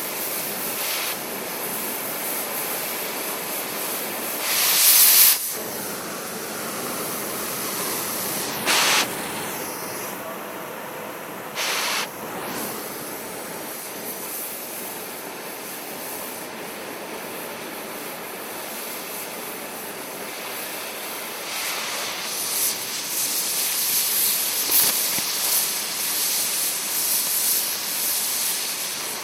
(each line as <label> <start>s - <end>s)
torch being lit 0.1s - 10.2s
torch being lit 11.5s - 14.8s
torch being lit 20.3s - 29.2s
cut through a steel sheet 22.3s - 25.8s